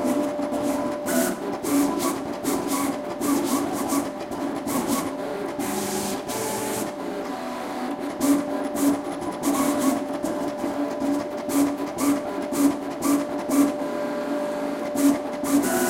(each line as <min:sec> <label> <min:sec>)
0:00.0 vinyl cutter machine plotter 0:15.8